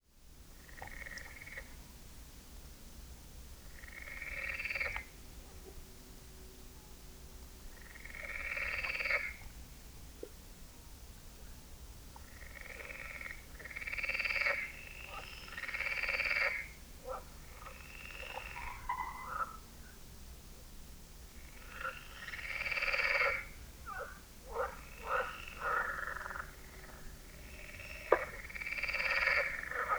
0.2s few frogs at night 29.9s

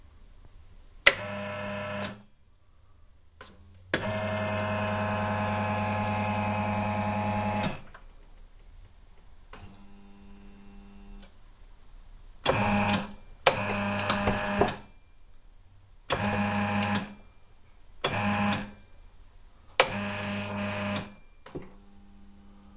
1.0s on/off clunky switch noise 2.3s
1.1s Dental chair servo switch 2.3s
3.4s on/off clunky switch noise 8.0s
3.9s Dental chair servo switch 7.9s
12.4s on/off clunky switch noise 14.9s
12.5s Dental chair servo switch 14.9s
16.1s on/off clunky switch noise 17.2s
16.1s Dental chair servo switch 17.2s
18.0s Dental chair servo switch 18.8s
18.0s on/off clunky switch noise 18.8s
19.8s Dental chair servo switch 21.2s
19.8s on/off clunky switch noise 21.8s

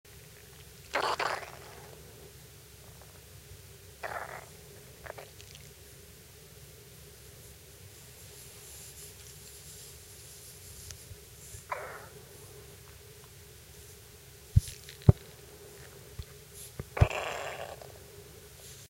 14.6s dog's stomach grumbling 17.9s

